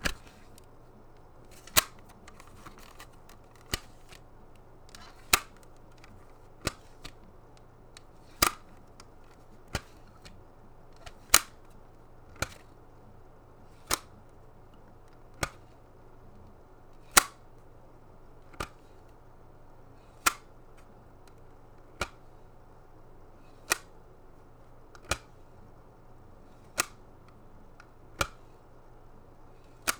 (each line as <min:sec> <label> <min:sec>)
0:00.0 jewel CD case opening and closing 0:10.4
0:11.0 jewel CD case opening and closing 0:11.6
0:29.6 jewel CD case opening and closing 0:29.9